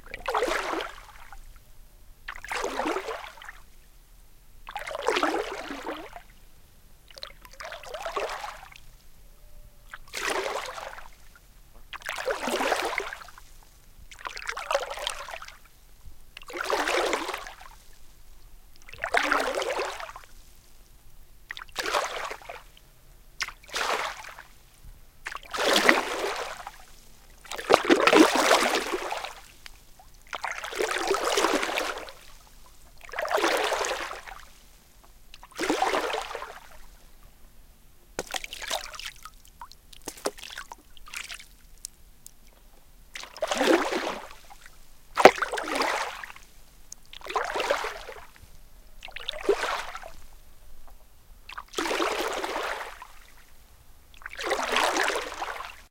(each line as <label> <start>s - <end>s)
rowing in the pond 0.0s - 1.6s
rowing in the pond 2.2s - 3.8s
rowing in the pond 4.6s - 6.4s
rowing in the pond 7.0s - 9.1s
rowing in the pond 9.7s - 37.2s
rowing in the pond 38.0s - 55.9s